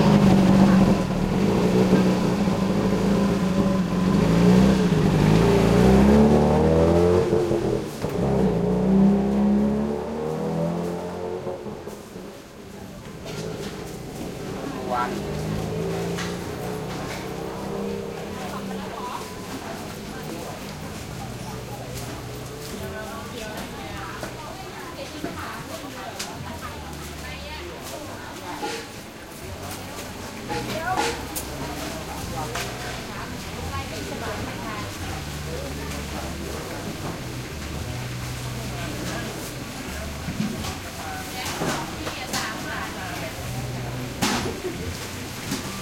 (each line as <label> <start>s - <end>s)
market morning activity 0.0s - 45.8s
loud close partial moped passby 13.3s - 20.5s